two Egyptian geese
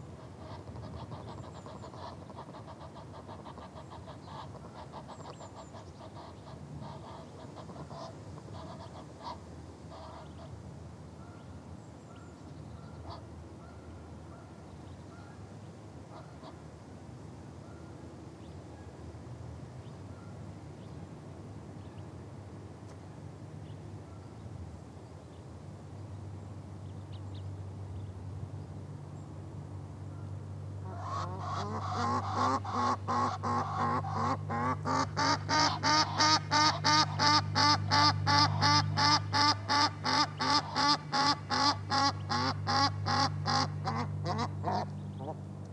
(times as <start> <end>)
0.0 10.6, 11.2 15.5, 16.1 16.7, 30.1 45.5